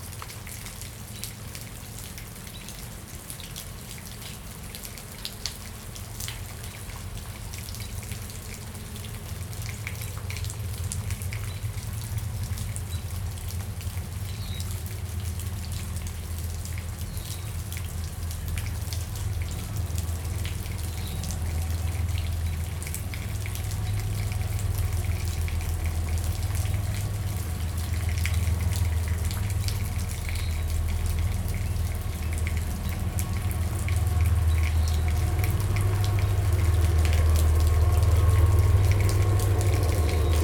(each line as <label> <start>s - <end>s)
Dripping Rain 0.0s - 40.4s
trains rumble slowly by in the near distance 0.0s - 40.4s
cars 21.3s - 40.4s